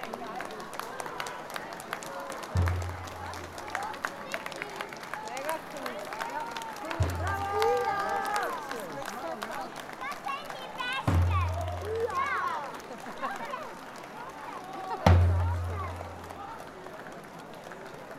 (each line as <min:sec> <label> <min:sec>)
0:00.0 audience, who comments on the lanterns 0:18.1
0:02.5 drums in front of the parade 0:04.1
0:06.8 drums in front of the parade 0:08.7
0:10.7 drums in front of the parade 0:12.6
0:15.0 drums in front of the parade 0:16.4